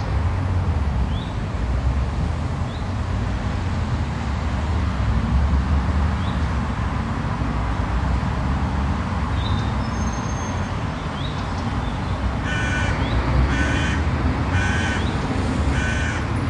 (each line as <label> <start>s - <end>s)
cars are making their way towards the city center 0.0s - 16.4s
birds are singing 1.0s - 1.5s
birds are singing 6.2s - 6.5s
birds are singing 9.3s - 14.0s
birds are singing 14.7s - 16.3s